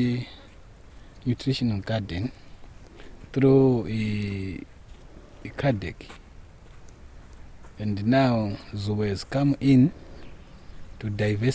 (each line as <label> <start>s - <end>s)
project officer describes 0.0s - 0.5s
project officer describes 1.2s - 2.5s
project officer describes 3.3s - 4.7s
project officer describes 5.4s - 6.2s
project officer describes 7.8s - 10.1s
project officer describes 11.0s - 11.5s